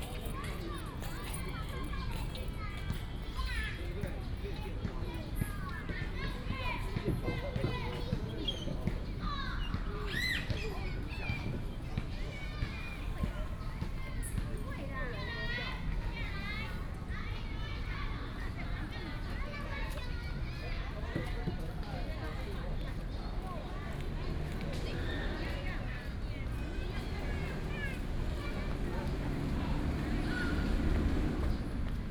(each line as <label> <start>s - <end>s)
Children Playground 0.0s - 32.1s